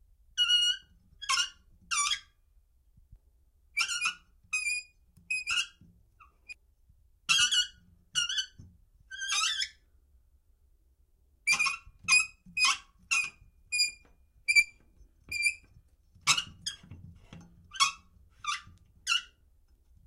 squeaky valve 0:03.8 - 0:06.6
squeaky valve 0:07.3 - 0:09.8
squeaky valve 0:11.5 - 0:19.4

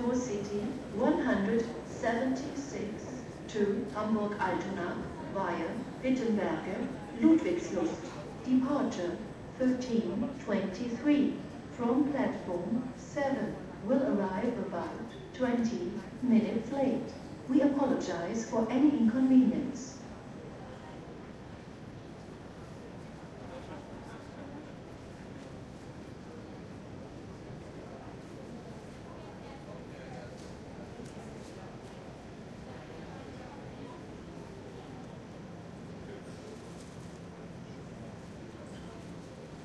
announcements 0:00.0 - 0:20.1
Arriving and departing trains 0:00.0 - 0:39.6

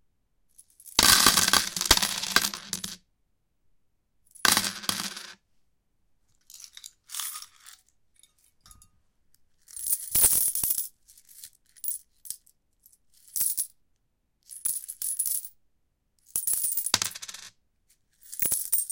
coins on a metallic surface 0:00.6 - 0:03.0
coins on a metallic surface 0:04.3 - 0:05.4
coins on a metallic surface 0:06.4 - 0:08.9
coins on a metallic surface 0:09.5 - 0:12.5
coins on a metallic surface 0:13.2 - 0:13.8
coins on a metallic surface 0:14.5 - 0:15.6
coins on a metallic surface 0:16.2 - 0:18.9

